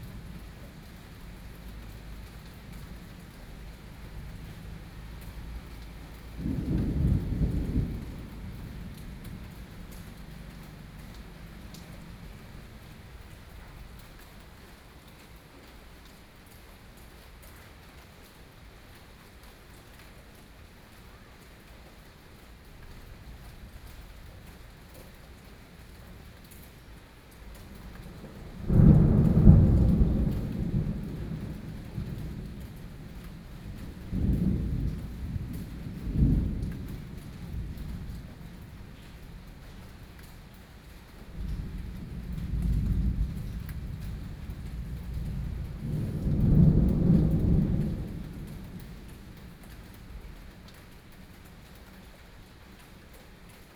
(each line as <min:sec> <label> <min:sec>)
0:00.0 Thunderstorm 0:14.3
0:27.6 Thunderstorm 0:50.7